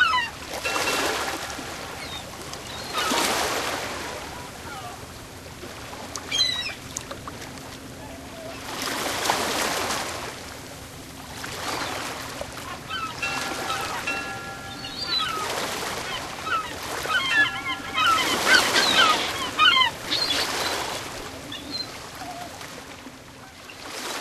seagulls 0.0 - 5.0
waves 0.0 - 24.2
seagulls 11.6 - 22.7
buoy 12.6 - 20.1

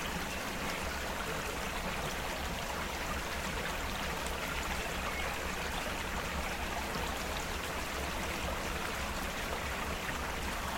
small stream 0.0 - 10.7

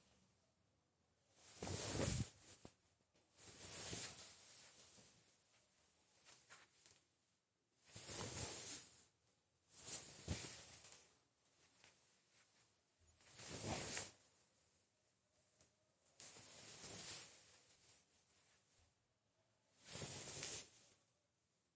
Crouching and getting up-dress 1.4 - 5.3
Crouching and getting up-dress 7.9 - 9.0
Crouching and getting up-dress 9.7 - 14.3

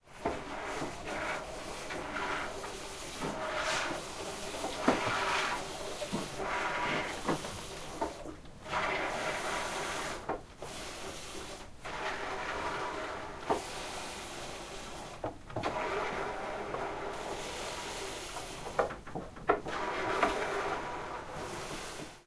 goats milking in plastic bucket 0.2 - 13.7

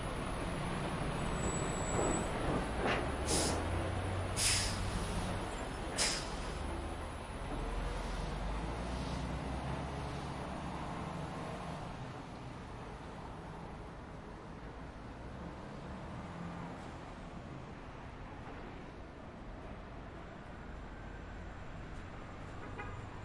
Buses 0.0 - 23.2
Light traffic 0.0 - 23.2

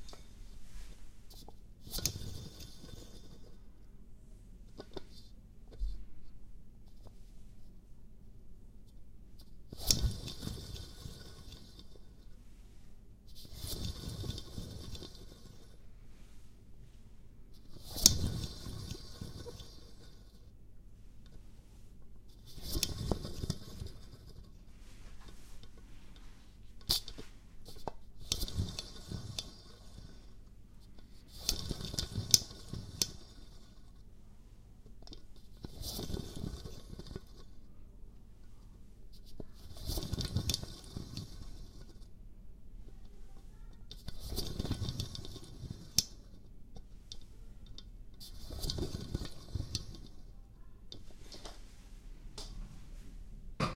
Rolling Globe 9.7 - 16.7
Rolling Globe 17.6 - 34.2
Rolling Globe 34.9 - 37.8
Rolling Globe 38.4 - 47.6
Rolling Globe 48.2 - 50.3

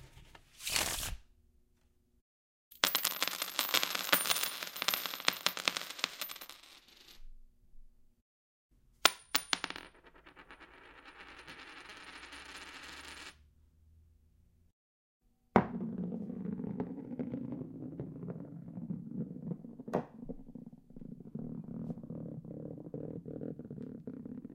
coin 2.8 - 7.2
coin 9.1 - 13.4

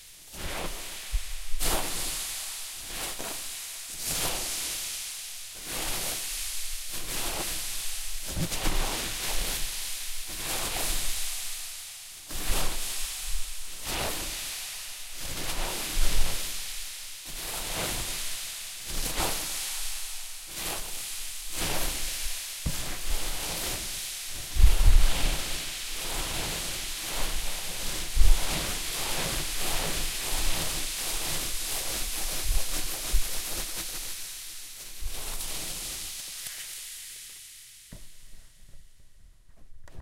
Wave sounds I made with a box of styrofoam 12.3 - 38.2

